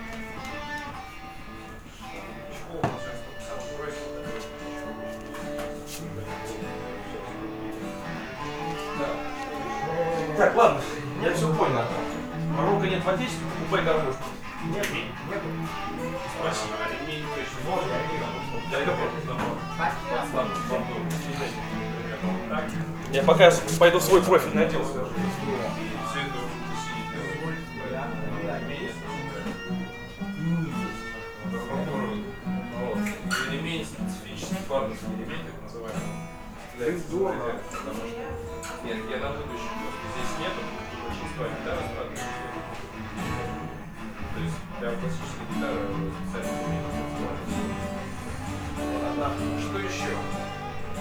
0.0s acoustic guitar 51.0s
0.0s electric guitar 51.0s
1.6s speech 51.0s

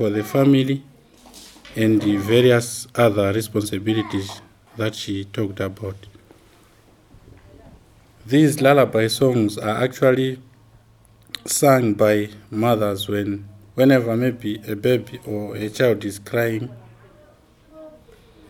0.0s Antony translates and explains in English 0.9s
1.7s Antony translates and explains in English 6.2s
8.2s Antony translates and explains in English 10.5s
11.3s Antony translates and explains in English 16.8s

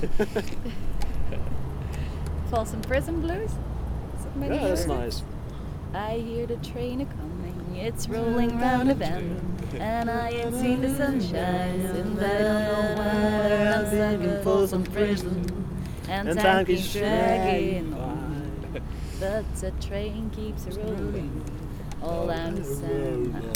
0.0s Late night singing with some other travelers 23.5s
4.2s jewish song 5.3s
5.9s jewish song 23.5s

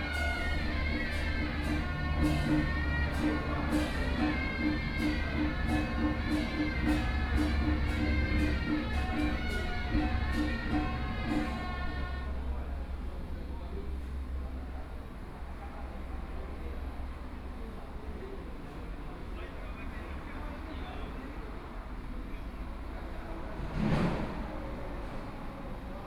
0.0s Traffic Sound 26.0s

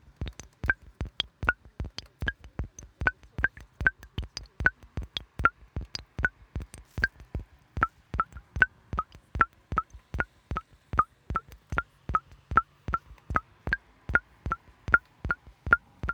0.0s Dripping Font 16.1s

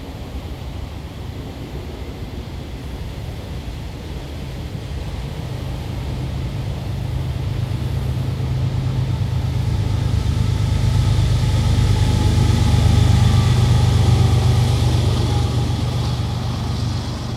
0.0s freight train passing in the woods 17.3s

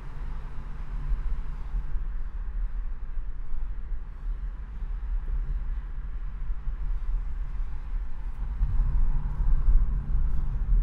0.0s Driving along the IDR 10.8s
0.0s passing under the really noisy bridge 10.8s

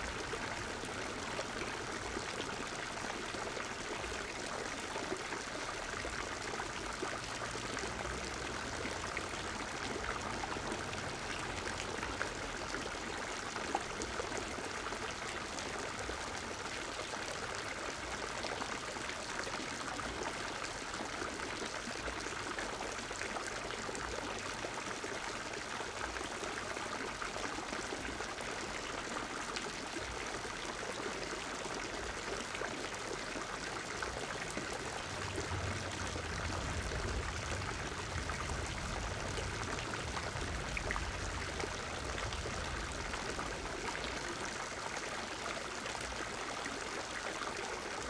0.0s fountain 48.0s

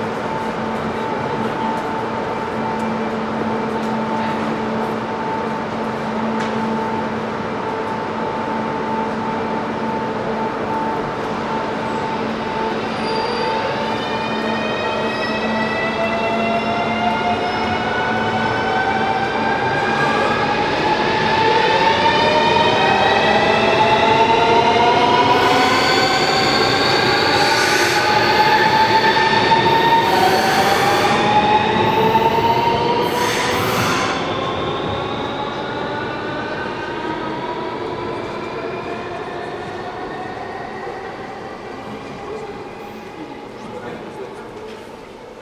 0.0s people talking on the platform 45.4s
0.0s the train leaves 45.4s
37.0s people are actively walking 45.4s

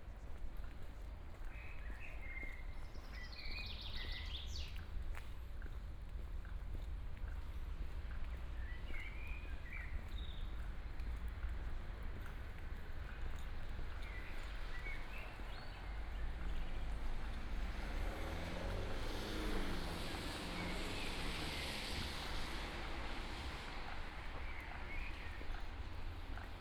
0.0s walking the streets 26.6s
5.4s Traffic Sound 26.6s

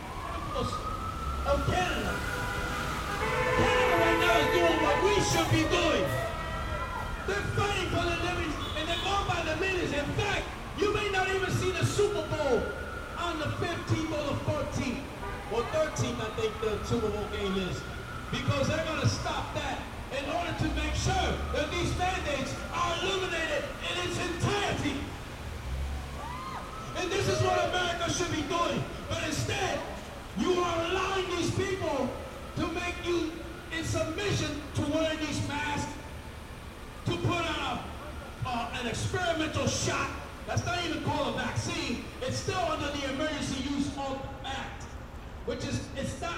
0.1s man with a megaphone shares his views 2.4s
3.2s man with a megaphone shares his views 25.2s
26.8s man with a megaphone shares his views 36.2s
37.0s man with a megaphone shares his views 46.3s

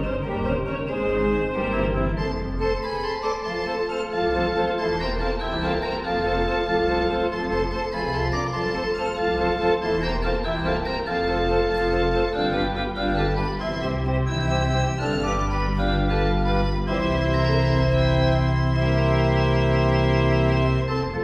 0.0s Orgelspiel in der Kirche 21.2s

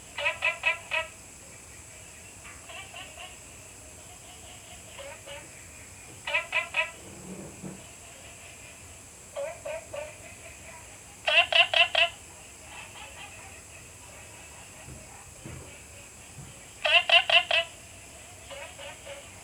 0.0s Insect sounds 19.4s
0.1s Frog calls 1.2s
2.5s Frog calls 5.6s
6.2s Frog calls 7.0s
9.3s Frog calls 10.5s
11.2s Frog calls 13.6s
16.8s Frog calls 19.4s

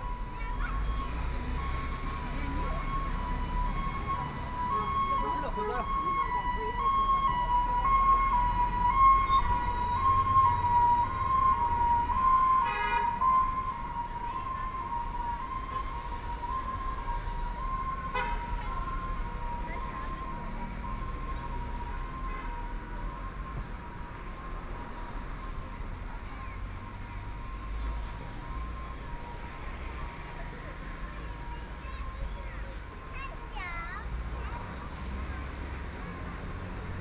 0.0s Traffic Sound 37.0s
0.0s Walking on the road 37.0s
0.0s ambulance warning sound 23.5s

